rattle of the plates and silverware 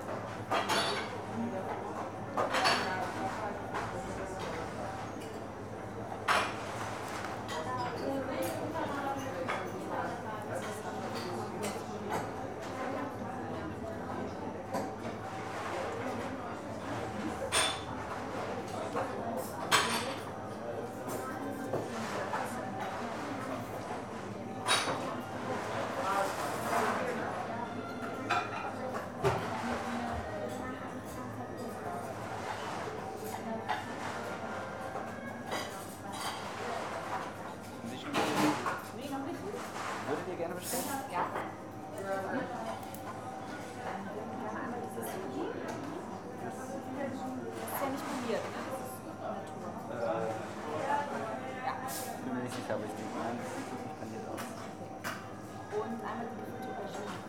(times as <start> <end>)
0.3 5.6, 14.7 44.2